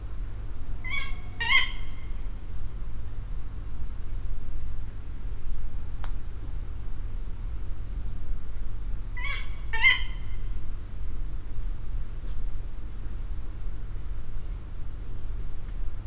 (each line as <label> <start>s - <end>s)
Female Tawny Owl 0.8s - 2.3s
Female Tawny Owl 9.2s - 10.6s